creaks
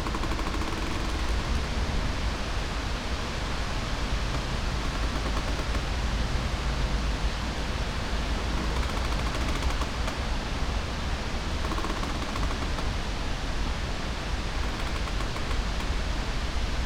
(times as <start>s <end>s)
4.2s 5.9s, 8.4s 10.2s, 11.6s 13.0s, 14.6s 15.9s